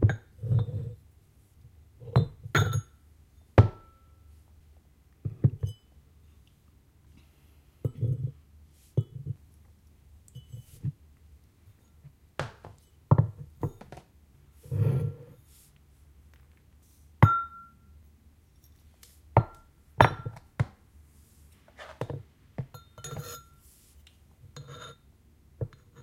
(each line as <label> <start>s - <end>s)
scraping the Ceramic bowl with a metal Spoon 0.1s - 1.0s
Ceramic Bottles, Jugs and Bowls clanking against each other 2.0s - 2.9s
scraping the Ceramic bowl with a metal Spoon 7.8s - 9.4s
scraping the Ceramic bowl with a metal Spoon 10.4s - 11.0s
scraping the Ceramic bowl with a metal Spoon 14.6s - 15.4s
sliding over wooden table 14.6s - 15.3s
Ceramic Bottles, Jugs and Bowls clanking against each other 20.0s - 20.4s
Ceramic Bottles, Jugs and Bowls clanking against each other 22.6s - 23.6s
scraping the Ceramic bowl with a metal Spoon 22.8s - 23.8s
scraping the Ceramic bowl with a metal Spoon 24.5s - 26.0s